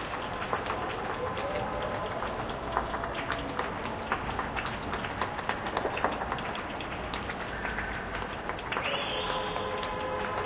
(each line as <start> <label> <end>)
0.0 Cheers 6.1
8.8 Cheers 10.4